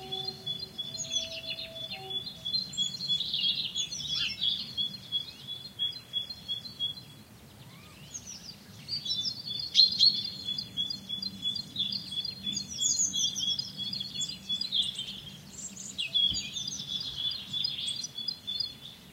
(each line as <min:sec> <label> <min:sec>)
0:00.0 voices 0:02.8
0:00.0 train 0:04.2
0:00.0 birds 0:19.1